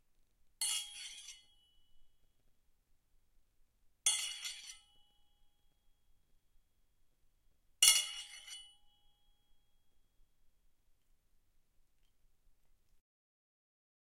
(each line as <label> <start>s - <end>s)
Sai Weapon Foley Scrape, Ring 0.6s - 2.1s
Sai Weapon Foley Scrape, Ring 4.1s - 5.8s
Sai Weapon Foley Scrape, Ring 7.8s - 9.8s